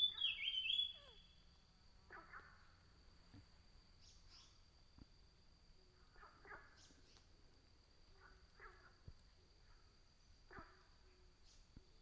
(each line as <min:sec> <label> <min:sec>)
0:00.0 birds sound 0:01.2
0:00.0 frogs chirping 0:01.2